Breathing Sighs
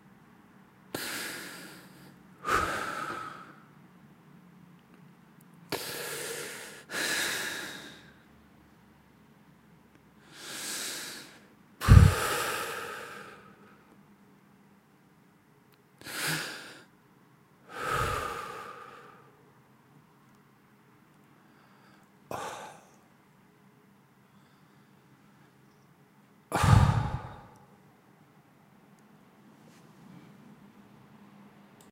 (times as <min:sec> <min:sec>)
0:01.0 0:03.6, 0:10.3 0:13.6, 0:17.7 0:19.3, 0:26.5 0:27.7